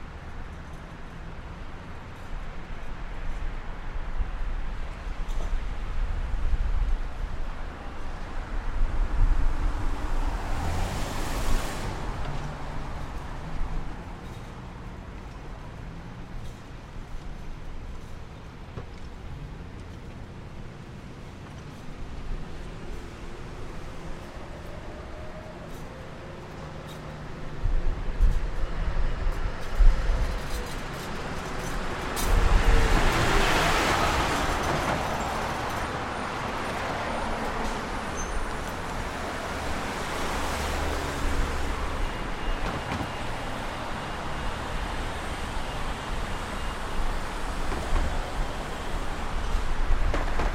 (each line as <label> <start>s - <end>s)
bus 0.0s - 50.5s
rush hour traffic on a four lane city road 0.0s - 50.5s
truck 7.2s - 50.5s